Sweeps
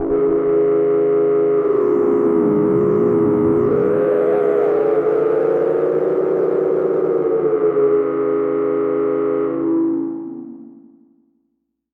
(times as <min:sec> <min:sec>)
0:01.6 0:07.9